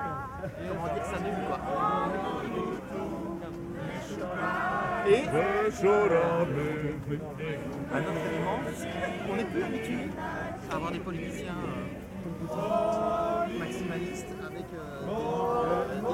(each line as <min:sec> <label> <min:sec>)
0:00.0 songs 0:16.1